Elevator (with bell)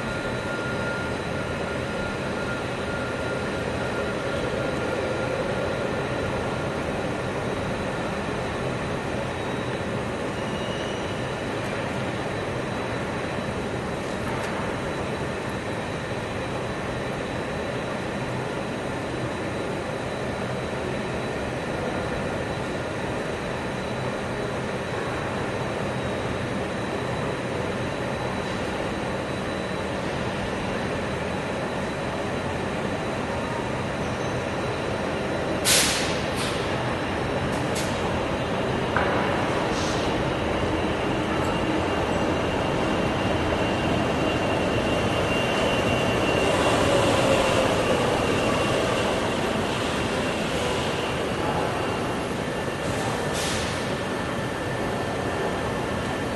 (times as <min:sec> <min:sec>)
0:07.6 0:35.6